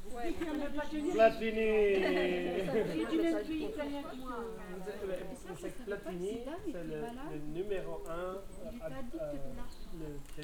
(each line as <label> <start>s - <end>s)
group of French hikers taking a break 0.0s - 10.4s